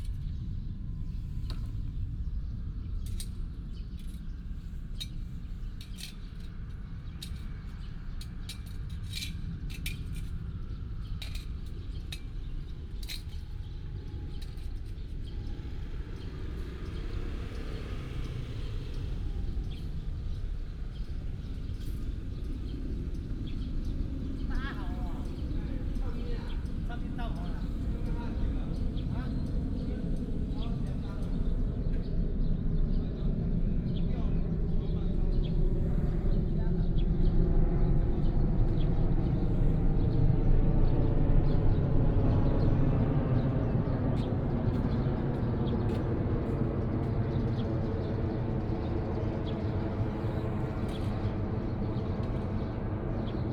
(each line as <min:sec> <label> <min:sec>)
0:10.1 Birds sound 0:53.5